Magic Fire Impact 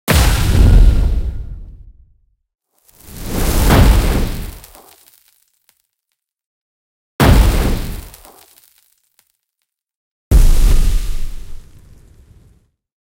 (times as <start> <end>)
0.1 1.9, 3.0 5.0, 7.2 8.4, 10.3 12.6